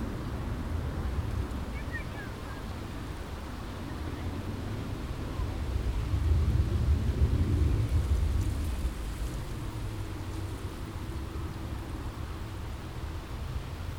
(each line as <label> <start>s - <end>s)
pleasure boats 0.0s - 5.7s
aircraft 0.0s - 13.9s
people relaxing 0.0s - 13.9s
trains passing by 0.0s - 13.9s
wind rustling the bushes 0.0s - 13.9s